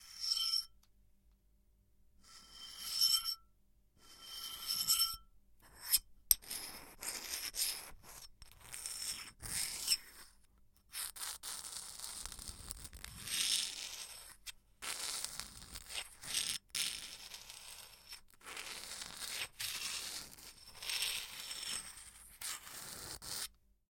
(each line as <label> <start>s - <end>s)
Scratching metal on porcelain 0.0s - 0.8s
Scratching metal on porcelain 2.2s - 10.3s
Scratching metal on porcelain 10.9s - 23.5s